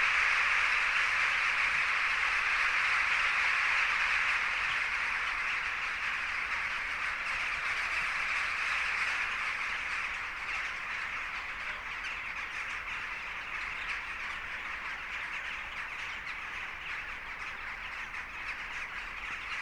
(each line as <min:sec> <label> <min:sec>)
0:00.0 Thousands of jackdaws 0:19.6